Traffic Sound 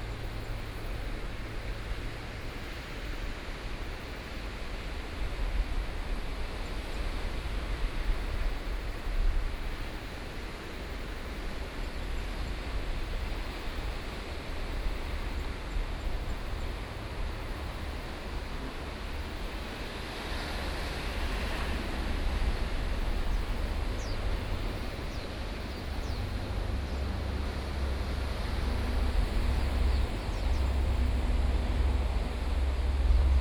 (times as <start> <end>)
20.2 33.4